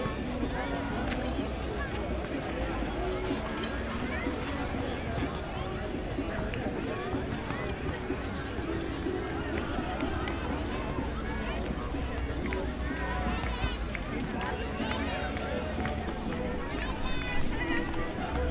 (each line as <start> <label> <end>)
0.0 loads of people gather at one of the barbeque areas 18.5